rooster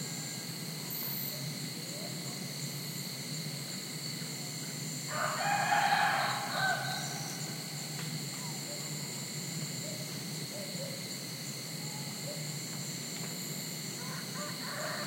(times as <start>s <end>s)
5.1s 7.4s, 14.0s 15.0s